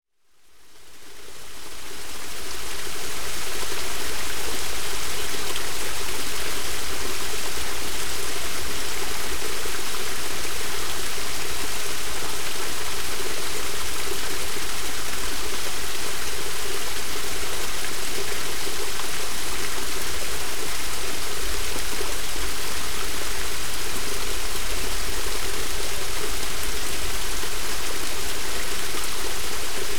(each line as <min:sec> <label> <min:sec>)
0:00.8 water passing through a culvert onto small rocks 0:29.9